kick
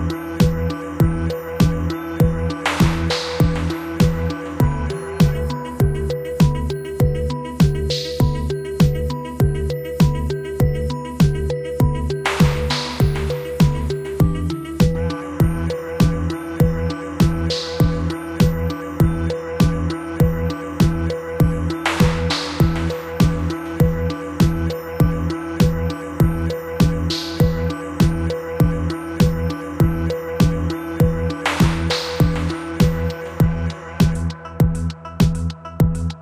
21.9s 23.5s, 31.5s 32.6s

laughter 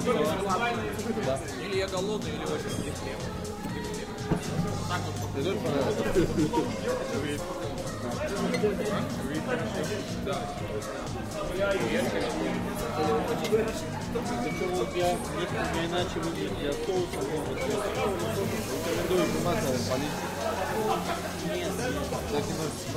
20.5s 21.6s

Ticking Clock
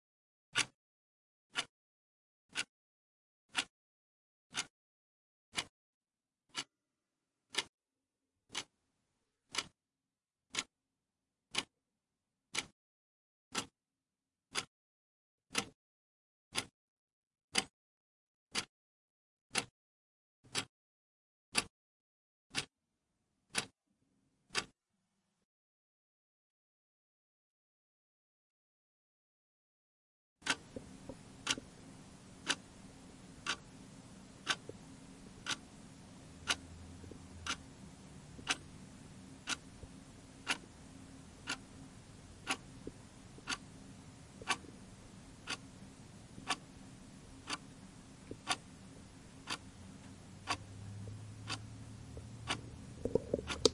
0.6s 0.8s, 3.5s 3.7s, 4.5s 4.7s, 7.5s 7.7s, 8.5s 8.7s, 9.5s 9.8s, 10.5s 10.7s, 11.5s 11.7s, 12.5s 12.7s, 15.5s 15.8s, 19.5s 19.7s, 20.5s 20.7s, 23.5s 23.7s, 24.5s 24.7s, 30.4s 53.7s

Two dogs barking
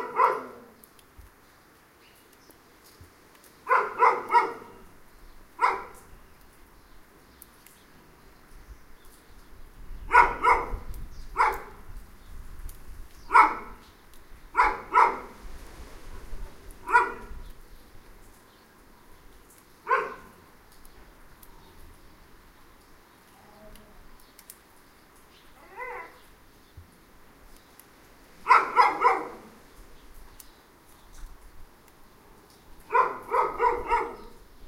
0.0s 0.8s, 3.6s 4.9s, 5.6s 6.1s, 10.1s 11.8s, 13.3s 13.8s, 14.6s 15.4s, 16.8s 17.4s, 19.8s 20.4s, 28.4s 29.6s, 32.9s 34.4s

